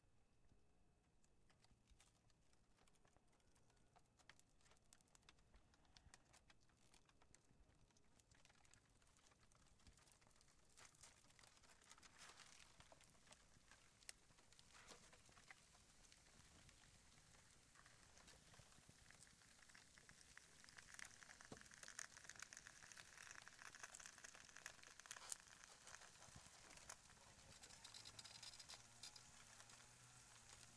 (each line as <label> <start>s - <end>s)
burning fastfood wrappers 1.7s - 30.7s